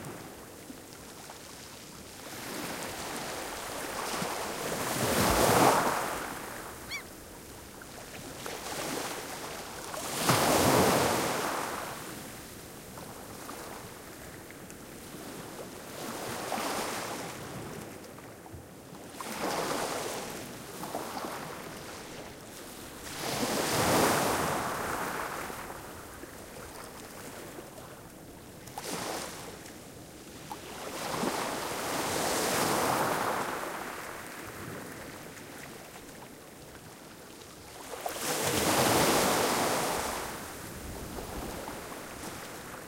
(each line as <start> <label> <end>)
0.0 Waves 42.8
0.0 wind 42.8
6.8 arctic terns 7.1